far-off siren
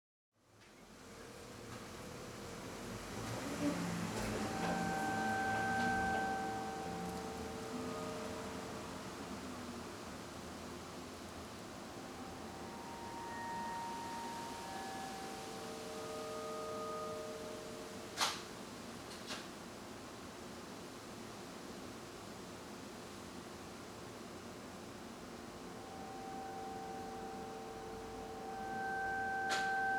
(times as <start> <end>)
3.9 9.1